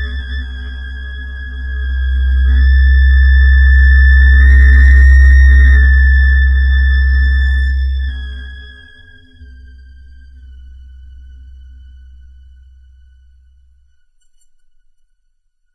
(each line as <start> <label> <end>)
0.0 moving tone 13.5